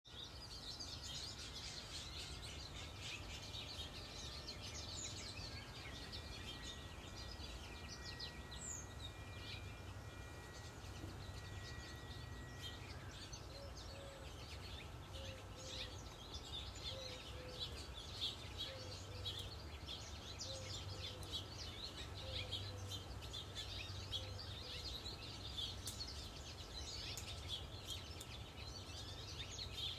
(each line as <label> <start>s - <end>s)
Birds 0.1s - 29.9s
bagpipe 3.5s - 14.5s